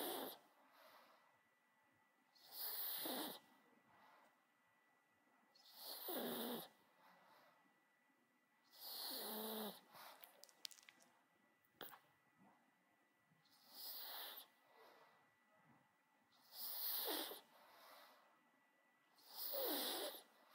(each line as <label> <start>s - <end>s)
snorts 0.0s - 0.4s
snorts 2.4s - 3.5s
snorts 5.6s - 6.7s
snorts 8.7s - 9.9s
snorts 13.6s - 14.5s
snorts 16.4s - 17.5s
snorts 19.2s - 20.3s